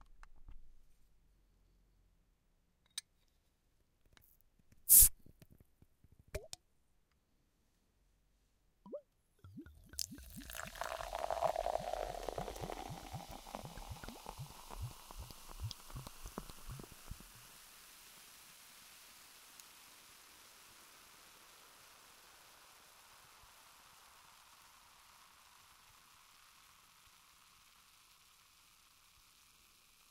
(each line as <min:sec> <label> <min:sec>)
0:04.9 bottle-top pop 0:05.1
0:04.9 fizz 0:05.1
0:06.4 bottle-top pop 0:06.6
0:08.9 bottle-top pop 0:17.4
0:08.9 fizz 0:30.1